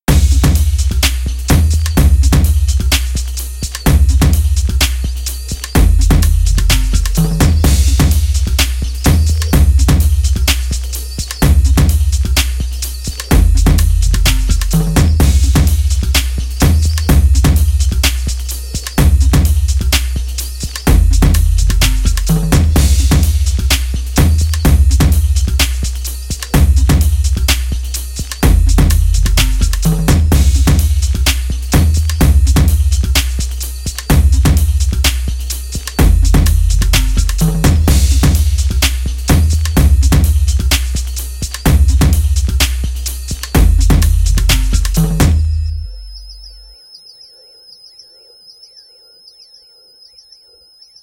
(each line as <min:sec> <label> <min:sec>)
0:00.1 Dirty Dubstep Drumloop 0:46.1